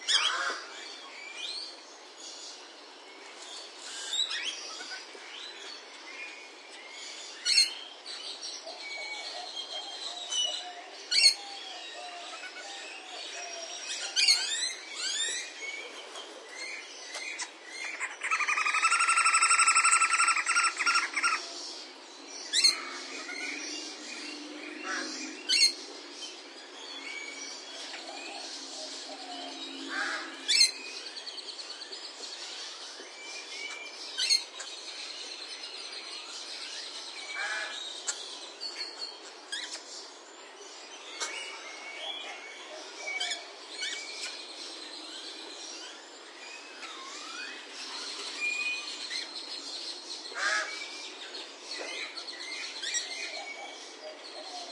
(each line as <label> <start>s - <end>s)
lorikeets 0.0s - 0.9s
lorikeets 7.3s - 15.6s
lorikeets 16.7s - 21.6s
parakeet 17.1s - 21.5s
Australian Magpie 17.4s - 21.5s
White-necked Raven 17.9s - 21.5s
lorikeets 27.2s - 31.0s
lorikeets 40.8s - 54.7s
White-necked Raven 50.4s - 50.8s